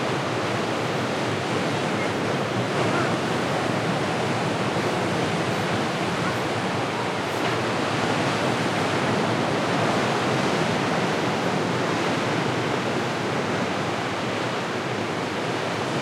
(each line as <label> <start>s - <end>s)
Ocean waves 0.0s - 16.0s